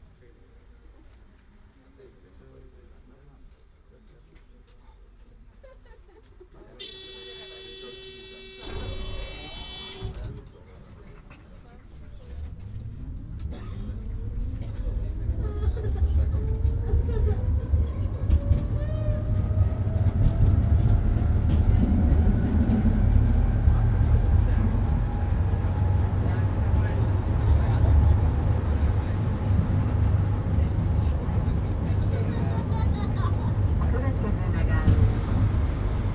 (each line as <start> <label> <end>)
0.0 Tram ride 36.1